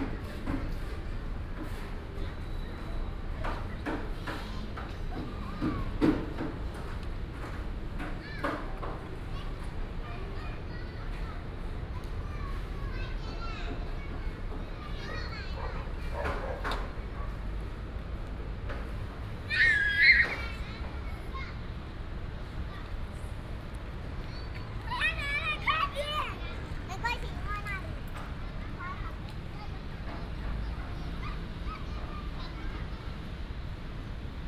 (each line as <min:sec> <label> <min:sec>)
0:00.0 traffic sound 0:34.4
0:23.1 Construction sound 0:31.2